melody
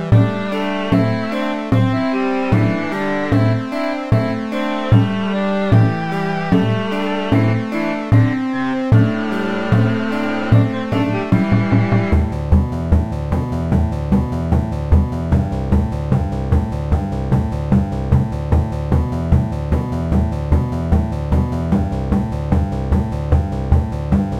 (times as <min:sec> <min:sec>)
0:00.0 0:12.3